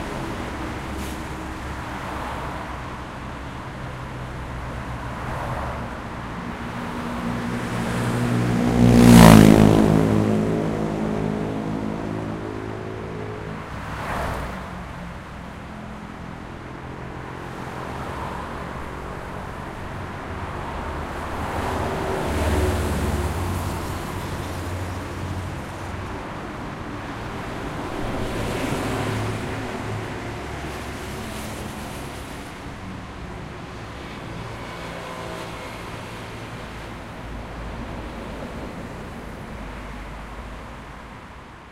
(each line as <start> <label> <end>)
0.0 Traffic in a big avenue in both directions 41.7
0.0 bus 41.7
5.2 motorbike 15.1